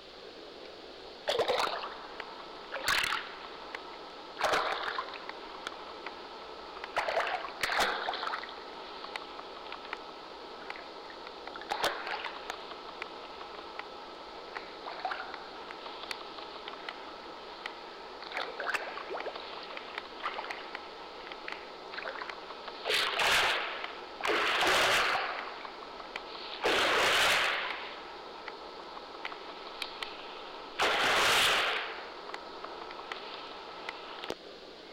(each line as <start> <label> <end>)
1.2 splashes from a hotel pool 2.0
22.0 splashes from a hotel pool 25.6
26.6 splashes from a hotel pool 28.0
30.8 splashes from a hotel pool 32.1